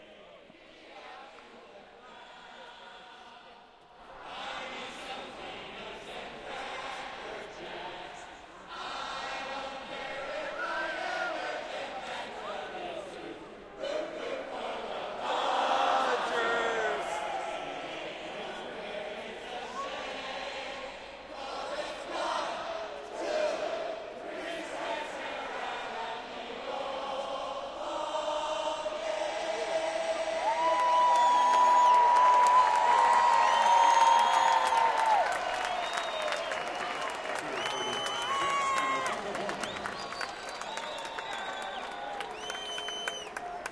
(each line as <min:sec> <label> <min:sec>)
0:00.0 crowd at Dodger stadium singing 0:43.7
0:15.2 cheering 0:18.7
0:29.4 cheering 0:43.7
0:30.5 applause 0:43.7